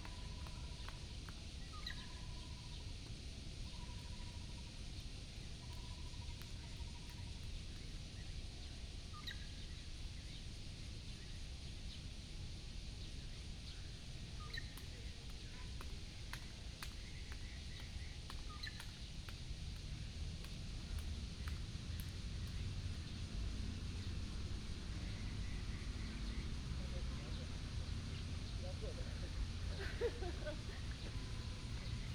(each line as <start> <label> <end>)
0.1 Birds sound 3.0
12.9 Birds sound 32.1
14.8 traffic sound 32.1